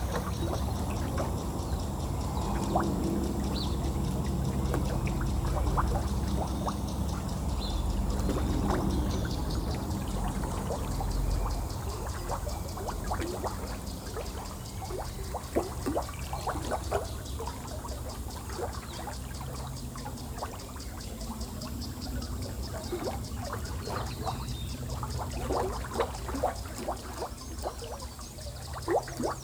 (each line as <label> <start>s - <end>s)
three planes 0.0s - 15.3s